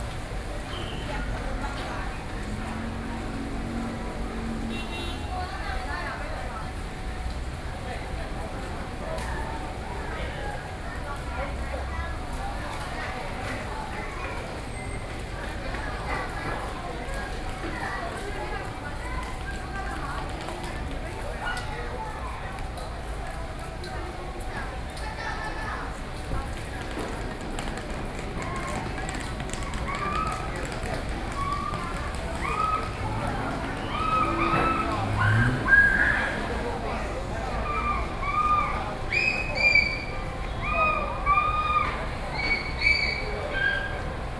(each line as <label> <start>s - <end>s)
Construction noise 26.2s - 43.4s
Taxi driver dialogue 32.9s - 40.6s